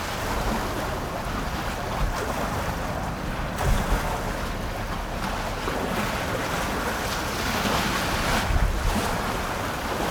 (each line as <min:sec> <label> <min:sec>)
0:00.0 Waves 0:10.1
0:00.0 Wind 0:10.1